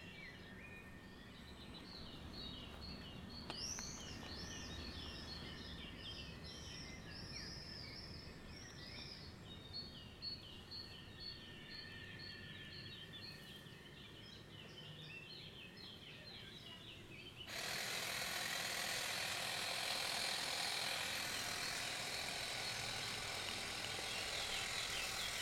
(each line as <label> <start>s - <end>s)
lawnmower 17.5s - 25.4s
scratching its coating with a rock and fingers 17.5s - 25.4s